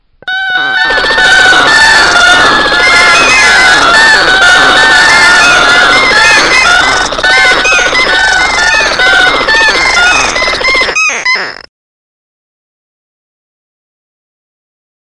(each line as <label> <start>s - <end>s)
seabirds 0.3s - 11.6s